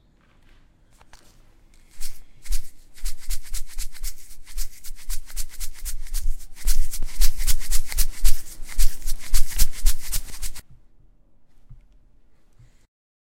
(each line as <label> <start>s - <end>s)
shook it in random orders 1.9s - 10.6s